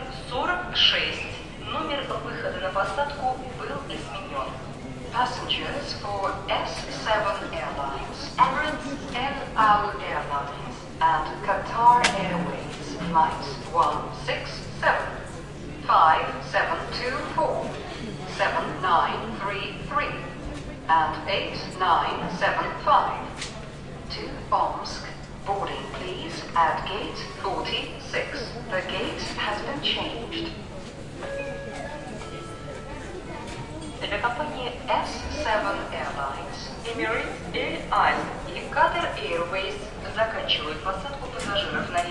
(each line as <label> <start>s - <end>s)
People talk 0.0s - 42.1s
Announcement departures 31.2s - 33.4s